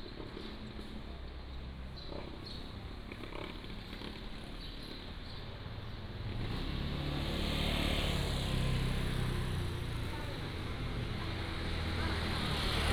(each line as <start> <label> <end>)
0.0 Walking in the Street 12.9